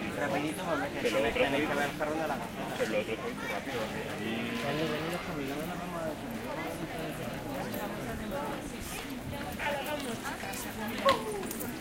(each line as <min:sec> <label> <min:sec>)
0:00.0 noisy tourist crowd talks 0:11.8